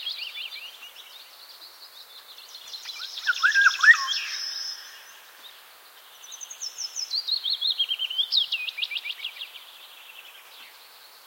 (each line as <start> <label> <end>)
0.0 willow warbler 11.2
2.7 Golden oriole whistling in the forest 5.3